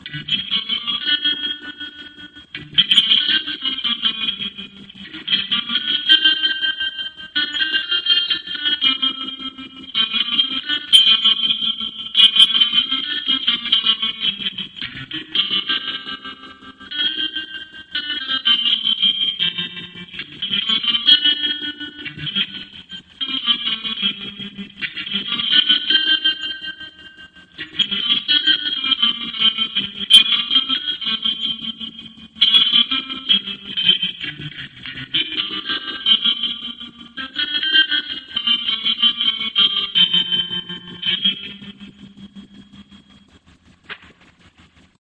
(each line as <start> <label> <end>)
0.0 Sharp Twangy Guitar 45.0